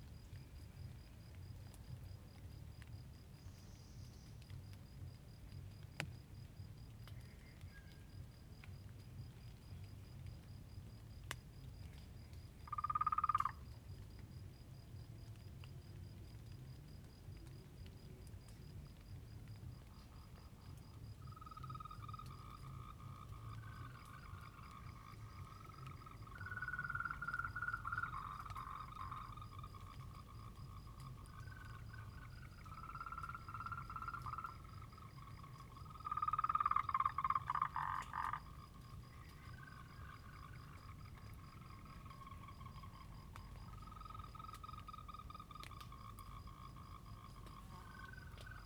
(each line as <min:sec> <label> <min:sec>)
0:00.1 Frogs chirping 0:48.6